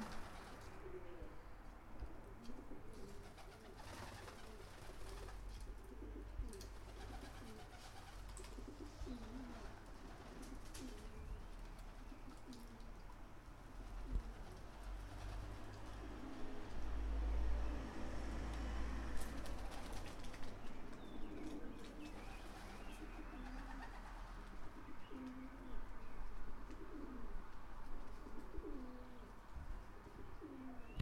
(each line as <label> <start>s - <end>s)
pigeons ruffling their wings 0.0s - 0.7s
pigeons ruffling their wings 2.9s - 5.8s
pigeons ruffling their wings 6.5s - 12.9s
pigeons ruffling their wings 13.8s - 16.1s
pigeons ruffling their wings 19.1s - 24.6s